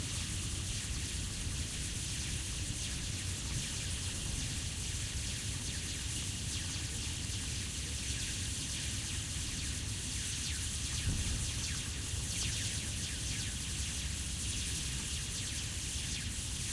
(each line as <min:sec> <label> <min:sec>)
0:00.0 Electrical lines ticling in wind 0:16.7